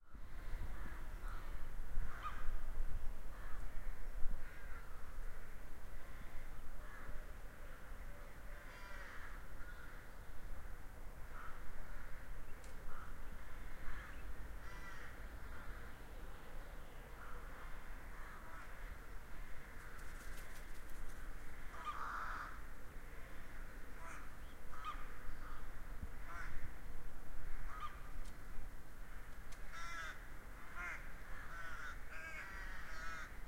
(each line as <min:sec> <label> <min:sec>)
0:00.4 crows 0:02.6
0:03.3 crows 0:07.2
0:08.4 crows 0:10.1
0:11.2 crows 0:12.3
0:11.2 other birds 0:26.7
0:12.9 crows 0:16.0
0:17.2 crows 0:26.8
0:27.5 crows 0:28.1
0:29.1 crows 0:33.4